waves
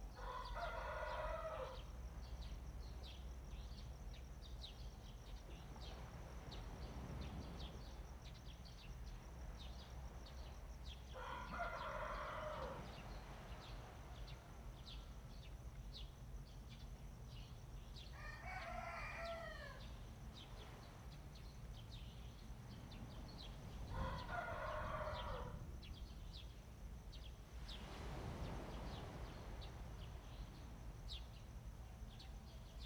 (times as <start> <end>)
4.9 17.9, 19.8 32.8